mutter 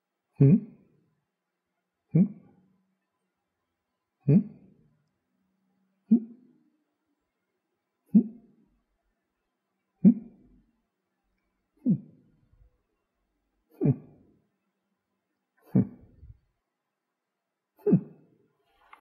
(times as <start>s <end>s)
15.6s 16.4s